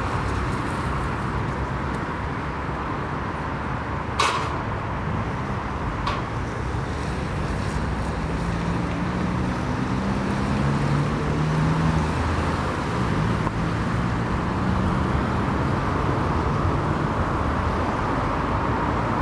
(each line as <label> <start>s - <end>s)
Traffic 0.0s - 19.2s
gate 4.2s - 4.9s
gate 6.0s - 6.6s